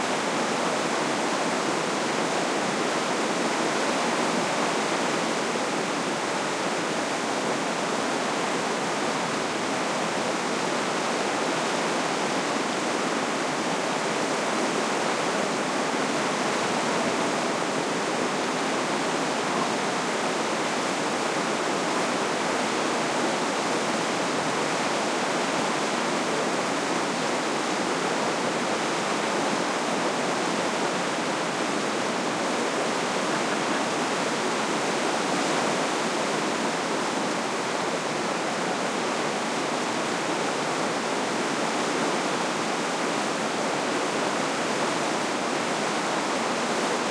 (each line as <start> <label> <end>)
0.0 running water 47.1
0.0 waterfall 47.1